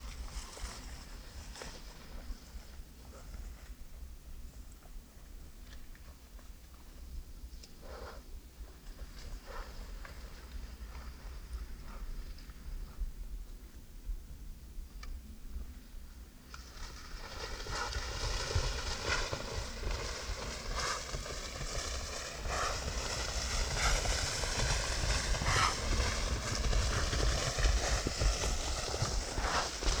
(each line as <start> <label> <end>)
0.0 wild boars are passing by in high grass 13.5
16.1 wild boars are passing by in high grass 30.0